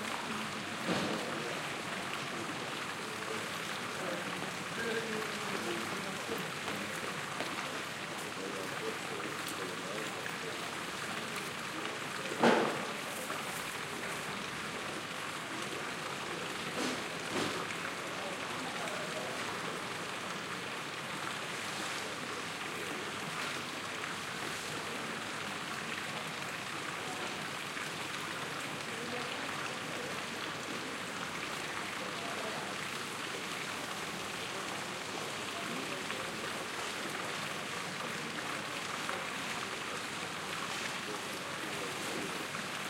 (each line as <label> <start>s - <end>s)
water in the fountain quietly keeps running 0.0s - 42.8s
restaurants take out the tables and parasols 12.4s - 13.7s